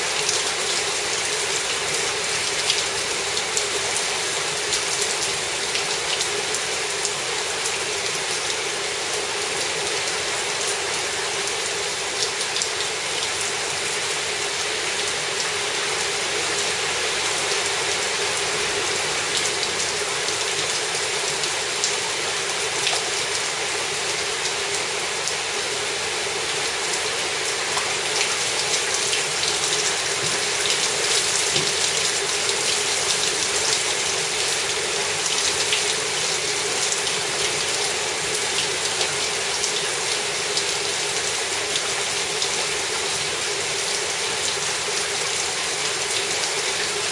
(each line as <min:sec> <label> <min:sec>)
0:00.0 Heavy rain 0:47.1